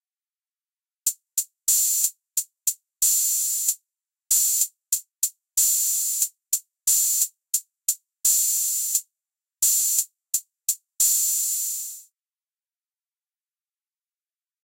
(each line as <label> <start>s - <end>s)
hihat open 1.1s - 9.0s
hihat open 9.6s - 12.0s